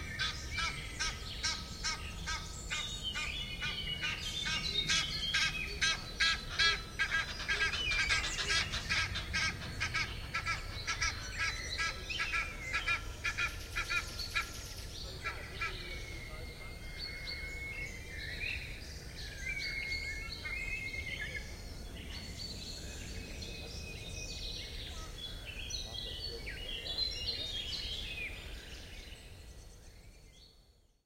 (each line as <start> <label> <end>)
0.0 Calls of the crows 18.0